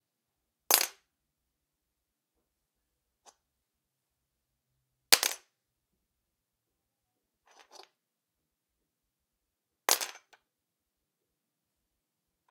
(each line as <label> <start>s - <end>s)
Nail clippers falling to the floor 9.9s - 10.4s